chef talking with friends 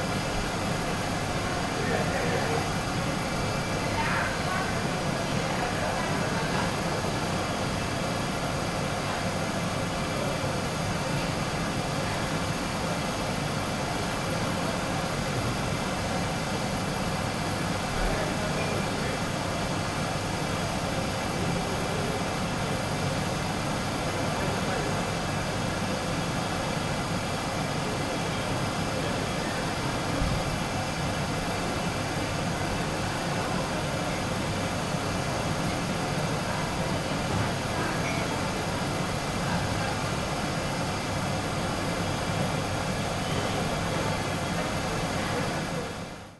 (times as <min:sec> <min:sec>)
0:00.5 0:11.3